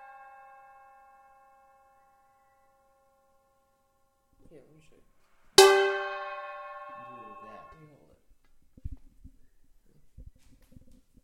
metal bowl being tapped, scrapped, and hit 0:05.6 - 0:07.7

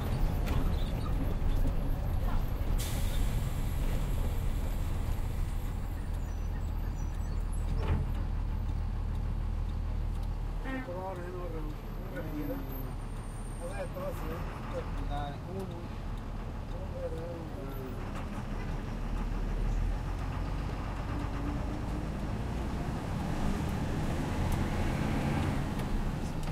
Bus 0:00.0 - 0:26.5

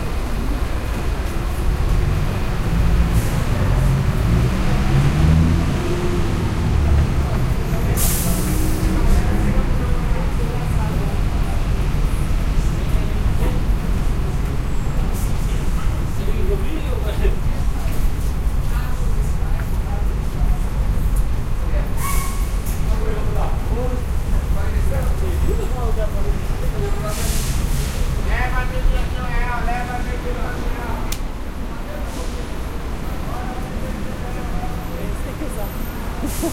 street noise 0:00.0 - 0:36.5

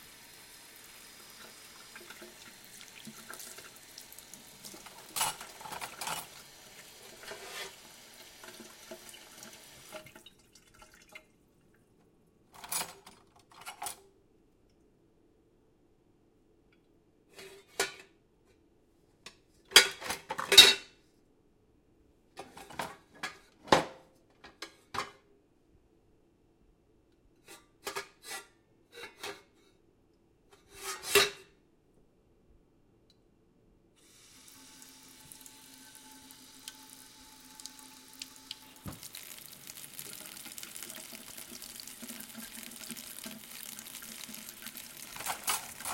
water running 0:00.0 - 0:11.3
rinsing dishes 0:00.8 - 0:11.2
Plates being scraped, stacked and clinking 0:07.1 - 0:07.8
Plates being scraped, stacked and clinking 0:30.6 - 0:31.4
water running 0:34.0 - 0:45.9
rinsing dishes 0:34.4 - 0:45.9
cutlery clinking 0:45.0 - 0:45.9
Plates being scraped, stacked and clinking 0:45.1 - 0:45.9

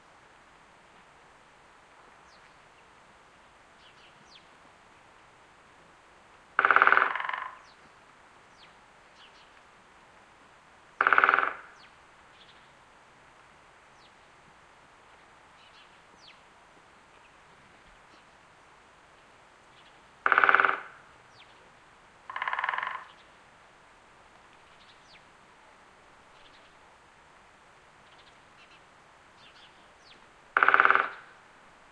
Woodpeckers Pecking 0:06.6 - 0:07.8
Woodpeckers Pecking 0:11.0 - 0:11.8
Woodpeckers Pecking 0:20.2 - 0:21.0
Woodpeckers Pecking 0:22.3 - 0:23.2
Woodpeckers Pecking 0:30.5 - 0:31.4

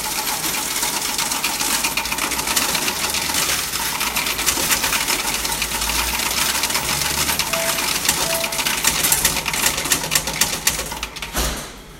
Bank Coin Count Deposit Machine 0:00.0 - 0:11.4

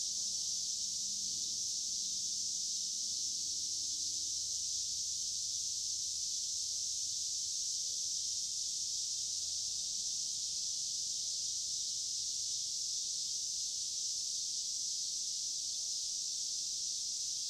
Cicadas singing in the trees 0:00.0 - 0:17.4

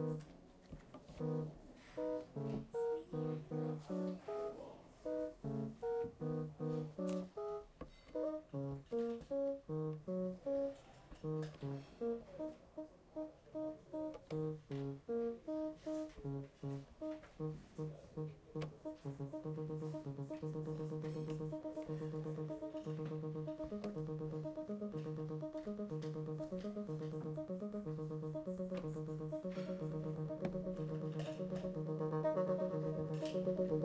electronic music instrument 0:00.0 - 0:00.3
electronic music instrument 0:01.1 - 0:04.5
electronic music instrument 0:05.1 - 0:07.6
electronic music instrument 0:08.2 - 0:33.8

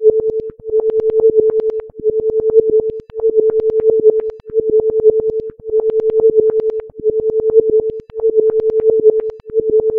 sine wave 0:00.0 - 0:09.9

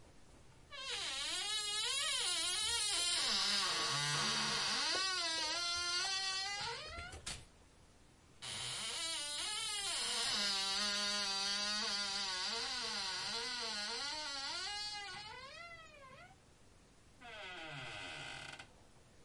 squeaky kitchen cabinet door 0:00.8 - 0:07.2

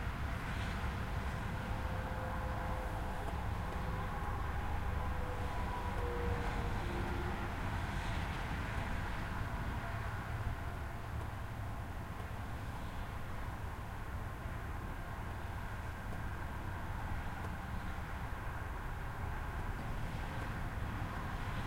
traffic 0:00.0 - 0:21.6
trucks 0:00.0 - 0:21.6

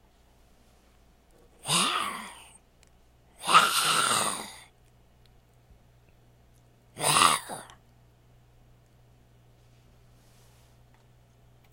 zombie sounds 0:01.6 - 0:02.5
zombie sounds 0:03.4 - 0:04.7
zombie sounds 0:07.0 - 0:07.8

